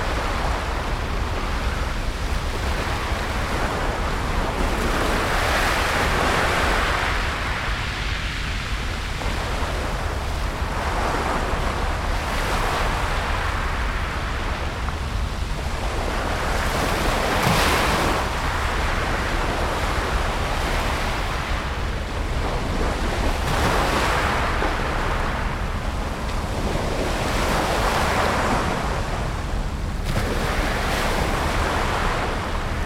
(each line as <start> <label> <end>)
0.0 Surf at the cobblestone beach 32.8
0.0 rumbling of the ferryboats' engines 32.8